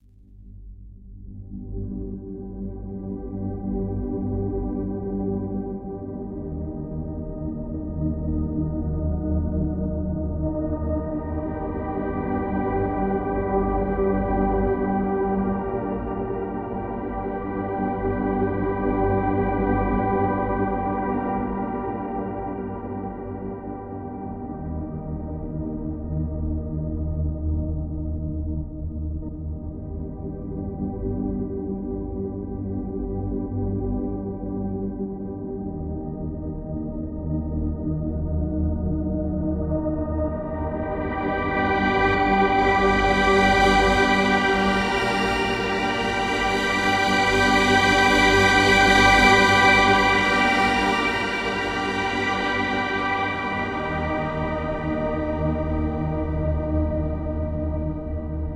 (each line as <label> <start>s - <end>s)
music 0.0s - 58.5s